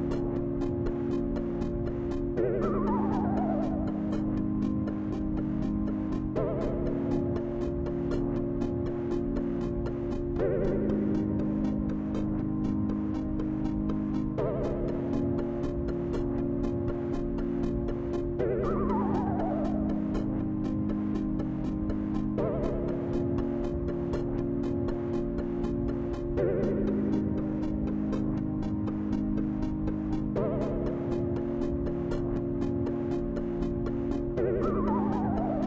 layered retro synth beat 0:00.0 - 0:35.6

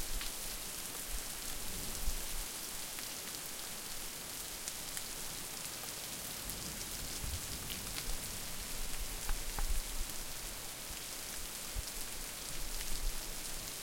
really heavy rain 0:00.0 - 0:13.8

